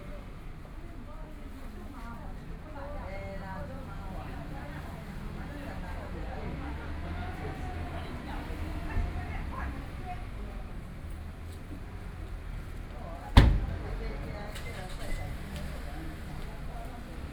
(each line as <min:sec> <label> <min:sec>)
0:00.3 Dialogue among the elderly 0:17.3
0:03.6 Traffic Sound 0:17.3